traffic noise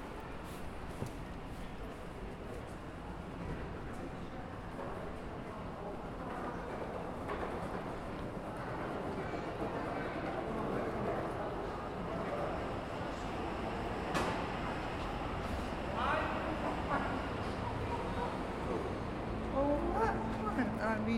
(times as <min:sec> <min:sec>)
0:11.5 0:21.1